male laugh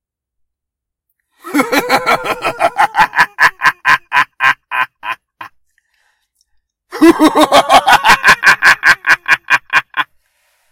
0:01.4 0:05.6, 0:06.9 0:10.1

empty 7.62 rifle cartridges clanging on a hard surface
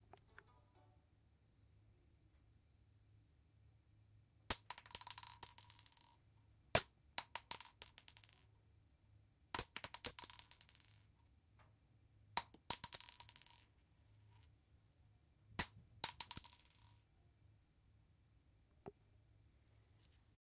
0:04.5 0:08.5, 0:09.6 0:11.2, 0:12.4 0:13.8, 0:15.6 0:17.1

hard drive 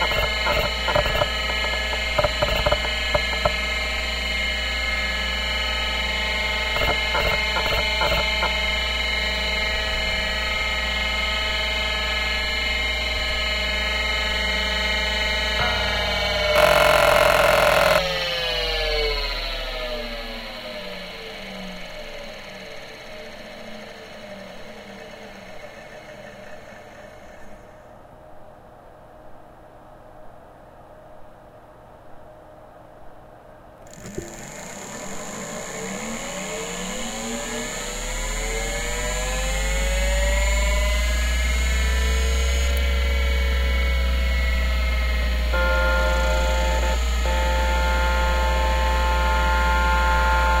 0:00.0 0:05.1, 0:05.9 0:09.0, 0:15.6 0:18.1, 0:45.4 0:50.6

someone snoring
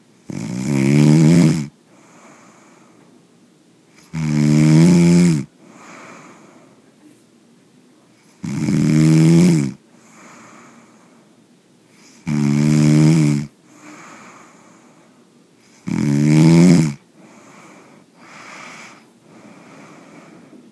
0:00.3 0:02.8, 0:04.0 0:06.4, 0:08.3 0:10.9, 0:12.0 0:14.7, 0:15.7 0:20.6

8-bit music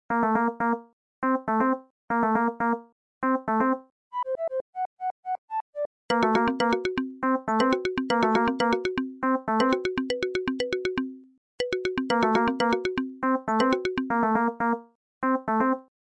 0:06.1 0:14.4

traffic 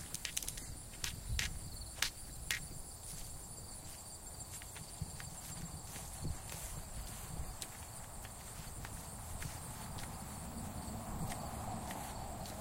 0:04.4 0:12.6

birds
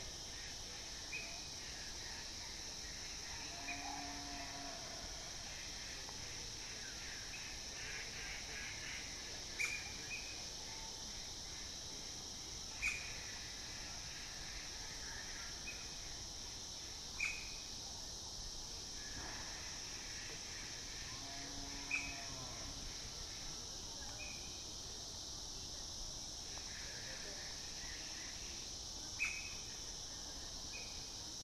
0:29.1 0:29.7

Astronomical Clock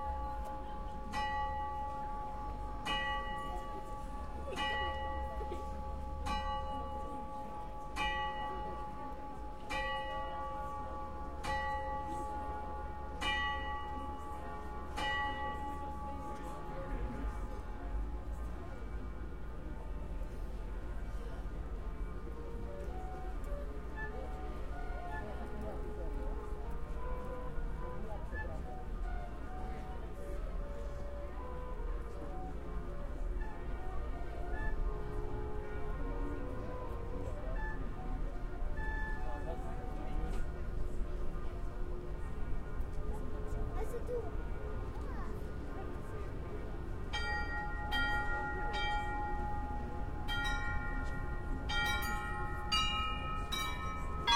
0:00.0 0:18.5, 0:47.0 0:54.3

